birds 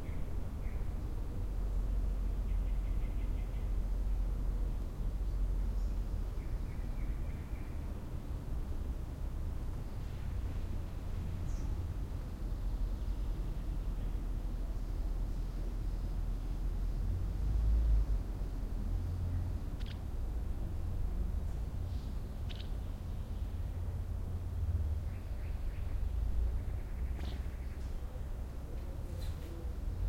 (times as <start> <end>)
0.0 8.1, 11.0 15.0, 19.1 20.1, 21.4 30.0